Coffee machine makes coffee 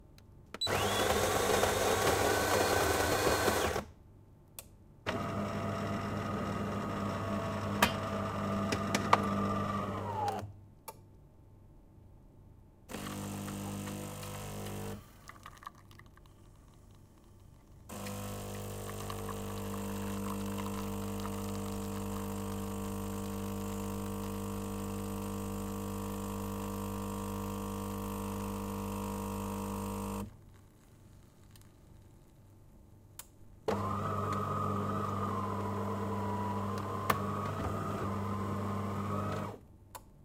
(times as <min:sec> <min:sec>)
0:00.6 0:03.8, 0:05.1 0:10.5, 0:12.9 0:16.1, 0:17.9 0:30.3, 0:33.7 0:39.6